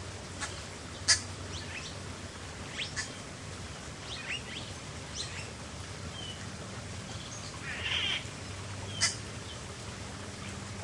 small stream 0.0 - 10.8
various starlings 2.7 - 3.3
various starlings 4.0 - 6.5
various starlings 7.1 - 8.3
various starlings 8.9 - 9.6

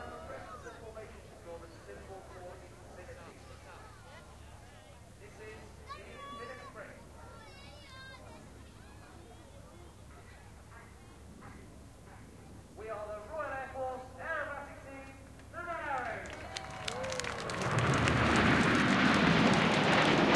crowd cheering 0.0 - 0.8
commentary broadcast over the loudspeakers 0.0 - 7.2
commentary broadcast over the loudspeakers 10.1 - 17.2
crowd cheering 15.7 - 20.3
jet 16.3 - 20.3

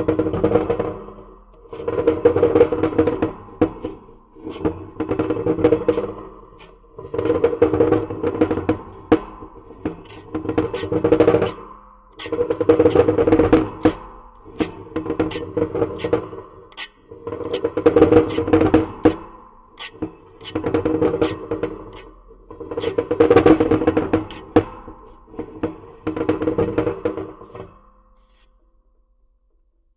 rubbing a piece of scrap metal against it 0.3 - 28.6

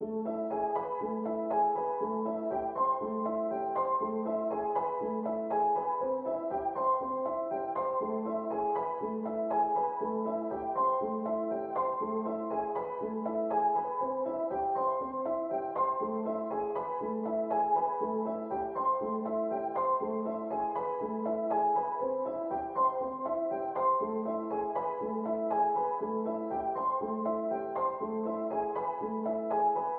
piano 0.0 - 29.9

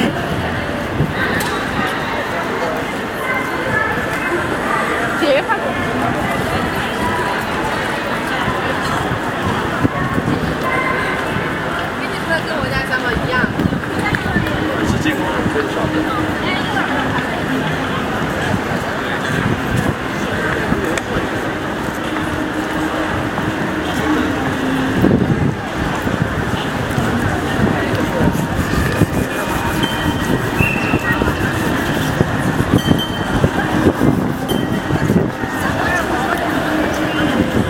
crowd 0.0 - 37.6

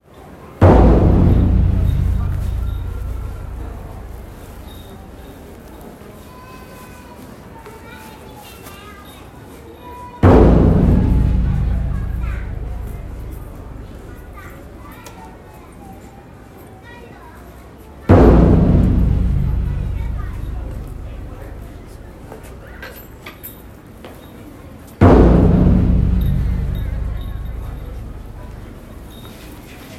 taiko 0.6 - 5.5
taiko 10.2 - 15.0
taiko 18.1 - 23.1
taiko 25.0 - 29.9

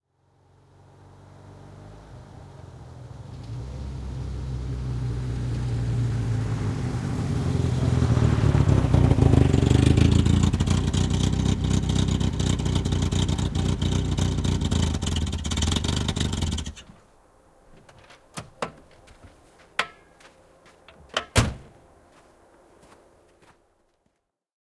car with a broken silencer approaching 0.1 - 17.0
car door 17.7 - 19.2
car door 20.9 - 21.8

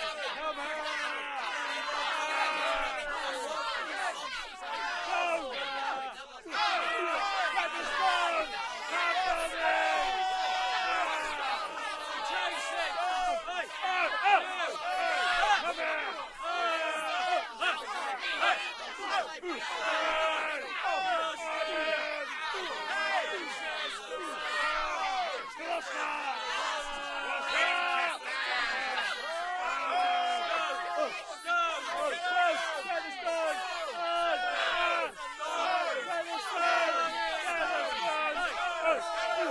angry mob/riot noise 0.0 - 39.5
chant 0.0 - 39.5
shouting 0.0 - 39.5

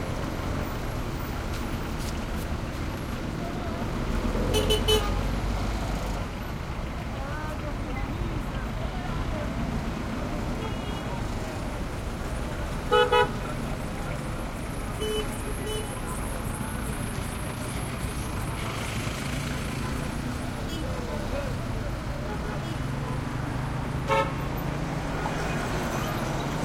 throaty cars motorcycles mopeds 0.0 - 26.6
horn honks2 24.1 - 24.4

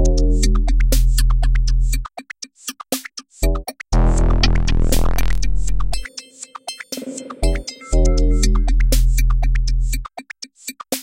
synth 4.0 - 6.2

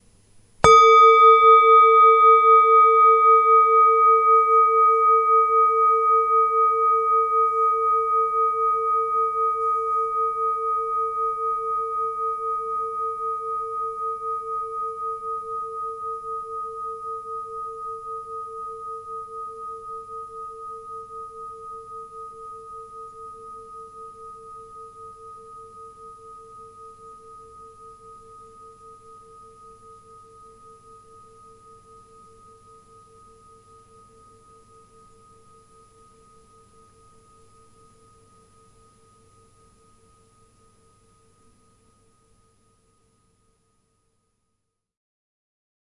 clear singing bowl 0.6 - 44.9

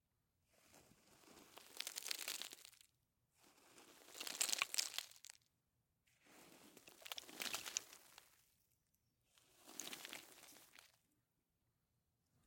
Light dirt rolling down a slope 0.5 - 5.5
Light dirt rolling down a slope 6.2 - 8.6
Light dirt rolling down a slope 9.4 - 11.1

